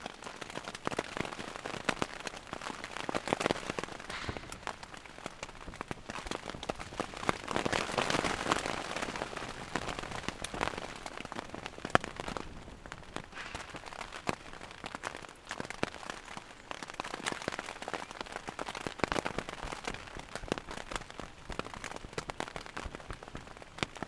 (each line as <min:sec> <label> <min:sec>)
0:00.0 rain 0:24.0
0:04.1 chopping wood 0:05.0